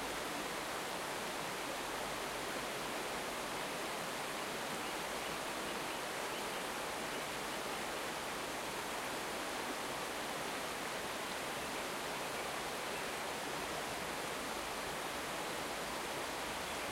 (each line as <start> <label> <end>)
0.0 river with boulders 16.9
15.2 birds sing 16.9